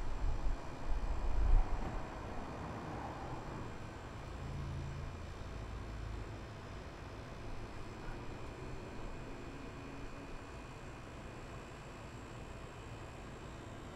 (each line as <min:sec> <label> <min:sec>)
0:00.0 mechanical buzz of appliances 0:13.9
0:00.0 slightly windy 0:13.9